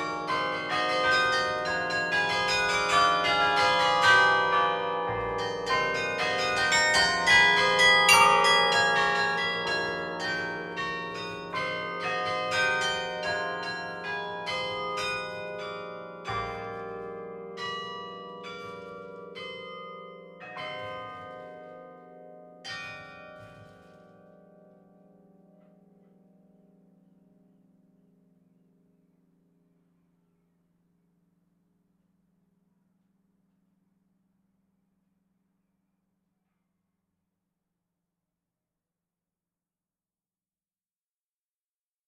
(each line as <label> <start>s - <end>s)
Carillon 0.0s - 21.8s